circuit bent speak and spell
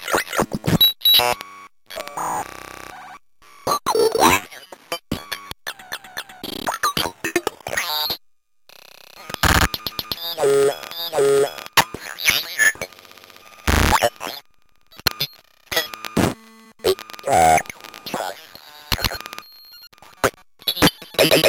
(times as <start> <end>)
9.2 12.9, 13.7 19.4, 20.0 21.4